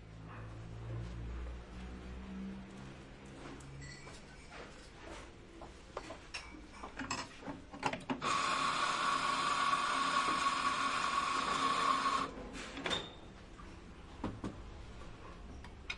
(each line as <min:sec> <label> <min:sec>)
0:07.8 machine 0:13.2